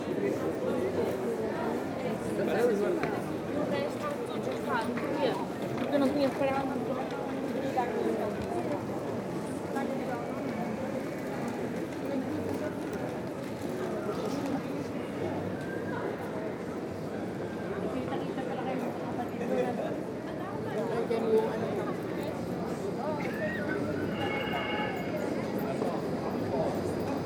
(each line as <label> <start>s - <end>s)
parade of trams 0.0s - 27.2s